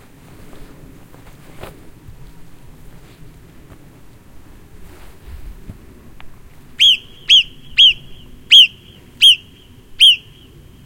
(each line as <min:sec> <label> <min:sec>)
0:06.8 scandalised marmots 0:10.5